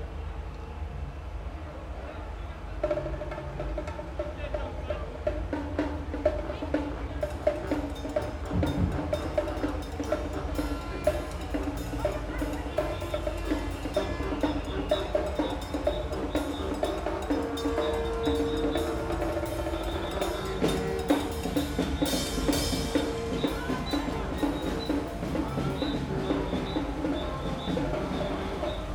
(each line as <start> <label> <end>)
1.8 Bavarian samba band insists on playing on 28.9
10.1 a foghorn honks 26.7